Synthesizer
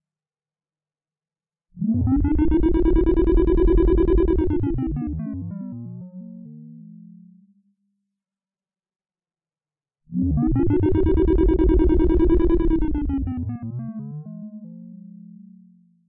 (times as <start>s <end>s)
1.8s 7.7s, 10.1s 16.0s